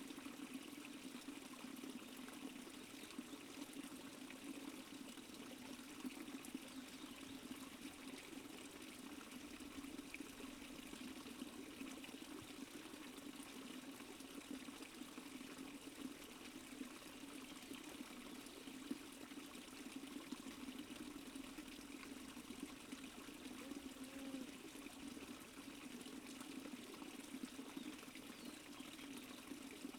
small creek 0:00.0 - 0:29.9
Fly 0:23.5 - 0:24.5
Birds 0:27.6 - 0:29.6

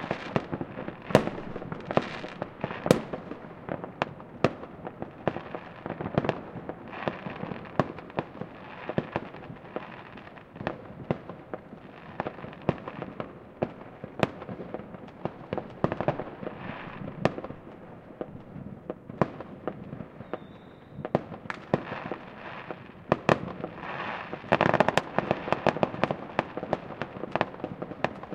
fireworks 0:00.0 - 0:28.3

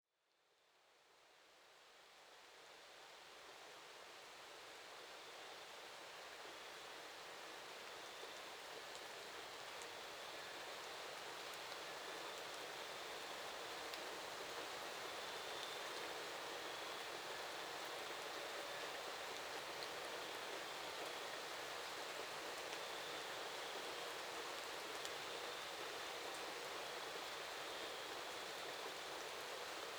rain 0:01.8 - 0:29.9
crickets chirping in the background 0:11.9 - 0:29.9

